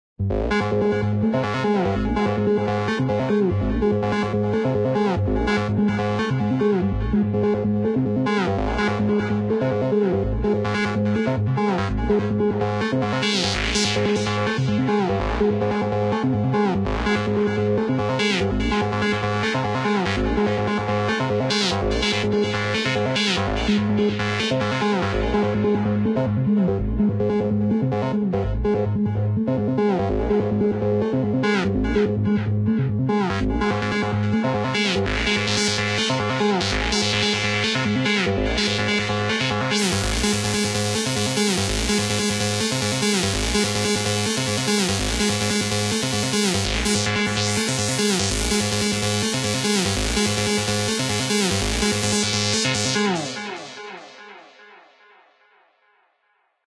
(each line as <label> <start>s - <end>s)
Psychedelic riff 30.0s - 54.4s